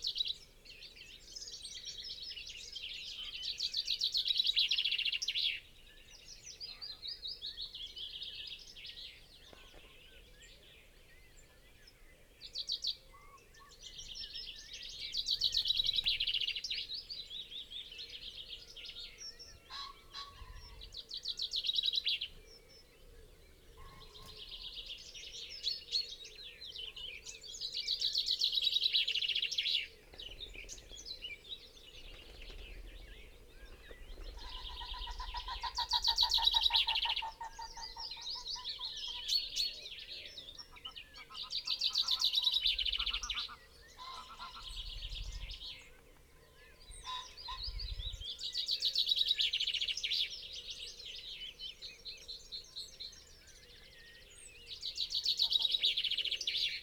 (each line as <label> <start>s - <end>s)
pheasant 0.0s - 56.8s
willow warbler 0.0s - 56.8s
red-legged partridge 17.4s - 56.8s
crow 19.0s - 21.0s
wood pigeon 29.9s - 36.8s
crow 34.4s - 39.4s
crow 40.2s - 45.0s
crow 46.7s - 47.8s
crow 55.2s - 56.7s